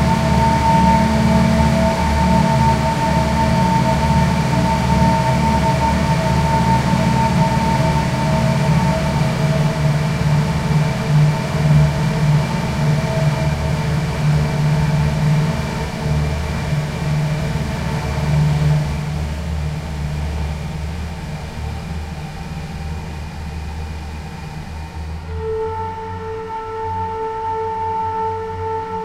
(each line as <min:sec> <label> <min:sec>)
0:00.0 played some notes on a flute 0:13.0
0:25.2 played some notes on a flute 0:29.0